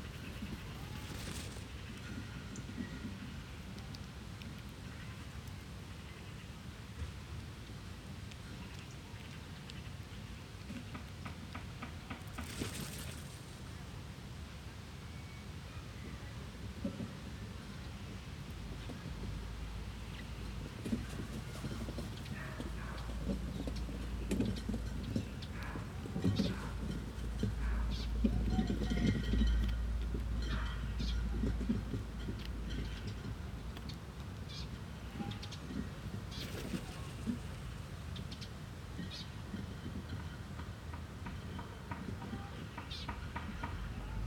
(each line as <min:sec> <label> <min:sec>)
0:00.1 flaps of crows' wings 0:01.7
0:12.1 flaps of crows' wings 0:13.4
0:36.3 flaps of crows' wings 0:37.6